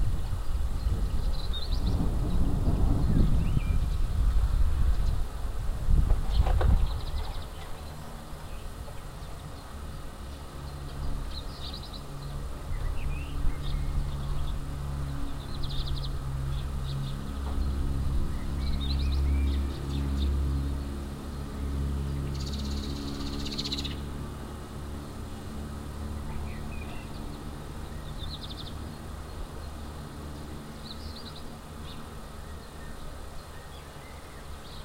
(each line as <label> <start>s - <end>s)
thunder 1.9s - 3.8s